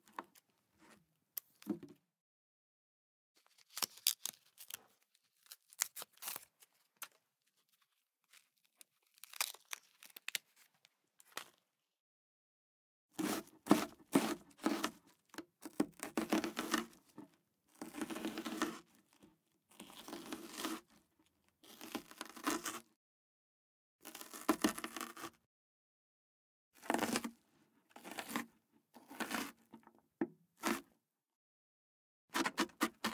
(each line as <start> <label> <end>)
3.4 onion sounds, including slicing, peeling, and chopping 11.7
13.1 onion sounds, including slicing, peeling, and chopping 22.9
24.0 onion sounds, including slicing, peeling, and chopping 25.5
26.8 onion sounds, including slicing, peeling, and chopping 31.0
32.3 onion sounds, including slicing, peeling, and chopping 33.1